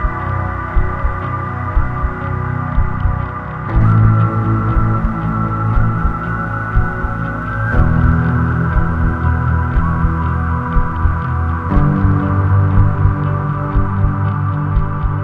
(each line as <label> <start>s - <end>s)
Guitar 0.0s - 15.2s
bass 0.0s - 15.2s
drums 0.0s - 15.2s